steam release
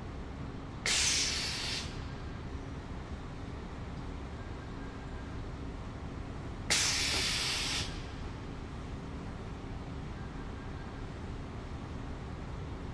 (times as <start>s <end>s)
0.9s 2.0s, 6.7s 8.0s